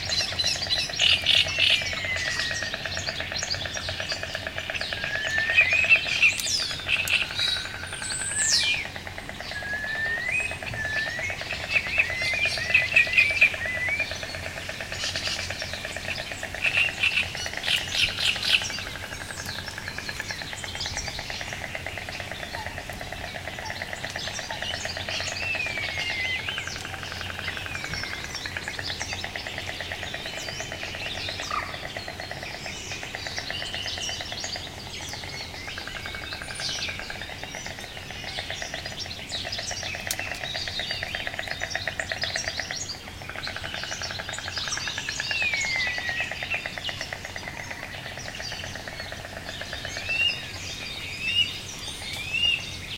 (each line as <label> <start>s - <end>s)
insects 0.0s - 52.9s
various bird species singing 0.0s - 52.9s